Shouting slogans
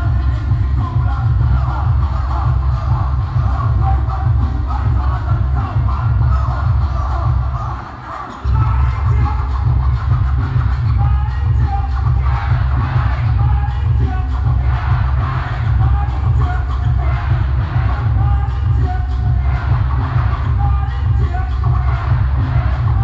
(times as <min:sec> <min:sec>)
0:12.1 0:23.0